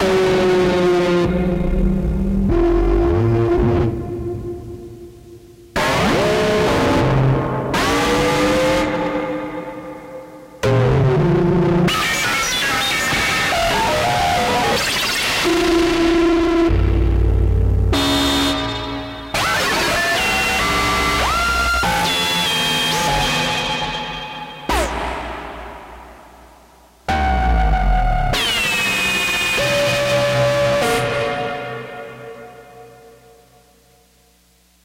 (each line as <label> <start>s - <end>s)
bass 0.0s - 9.1s
bass 15.4s - 31.5s
Synth 17.9s - 33.5s